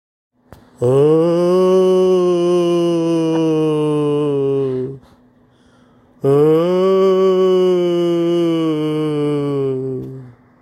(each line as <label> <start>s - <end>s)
moaning ghost 0.8s - 5.2s
moaning ghost 6.2s - 10.4s